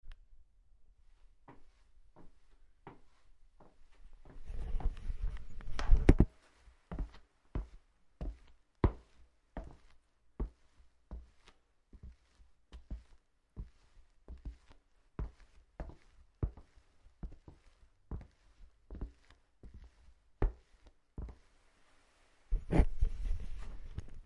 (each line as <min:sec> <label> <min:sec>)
0:06.9 Footsteps on Wooden Floor 0:21.4